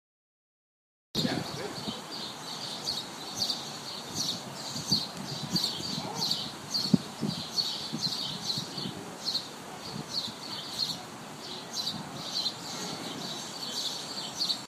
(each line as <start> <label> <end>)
1.2 Birds 14.6